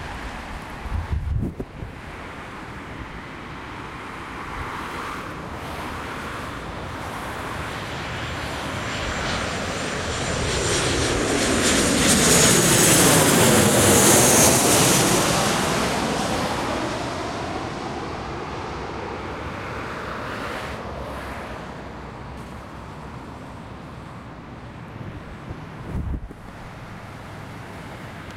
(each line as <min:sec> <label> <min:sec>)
0:00.0 airplane passing over an avenue 0:28.3